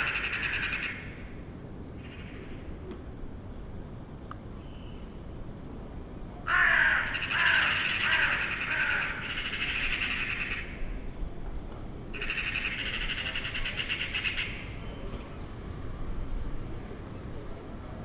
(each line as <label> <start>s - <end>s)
Crows 0.0s - 1.1s
Magpies 0.0s - 1.1s
Crows 6.5s - 10.8s
Magpies 6.5s - 10.8s
Crows 12.2s - 14.7s
Magpies 12.2s - 14.8s